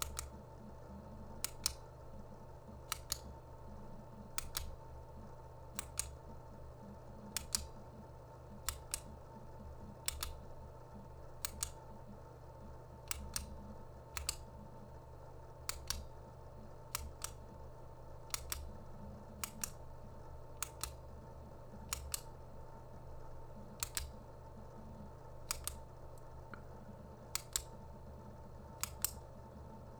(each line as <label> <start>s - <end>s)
retractable pen top clicking 23.8s - 24.1s
retractable pen top clicking 25.5s - 25.8s